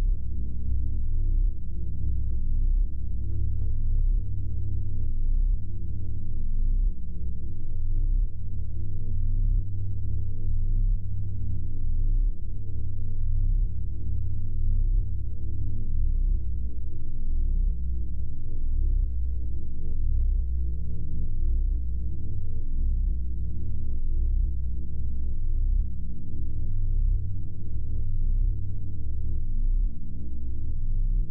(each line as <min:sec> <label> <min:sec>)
0:00.0 Low-frequency hum 0:31.3